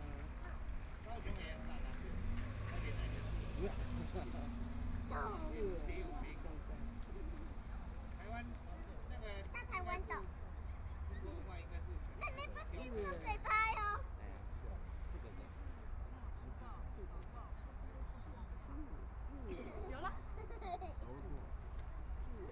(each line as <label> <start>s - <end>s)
people are waiting 0.0s - 14.1s
Traffic Sound 0.0s - 22.5s